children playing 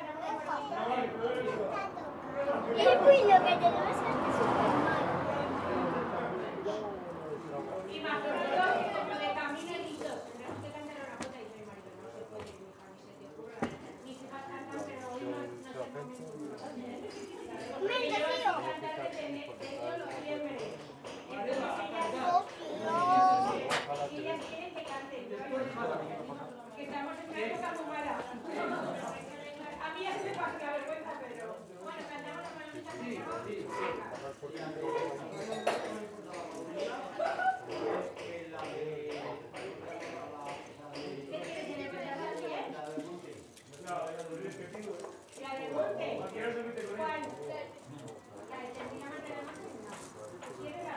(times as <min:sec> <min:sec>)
0:00.0 0:10.7, 0:16.6 0:31.2, 0:31.8 0:38.4